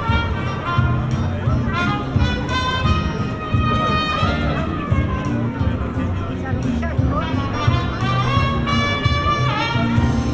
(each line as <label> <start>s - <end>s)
jazz band 0.0s - 10.3s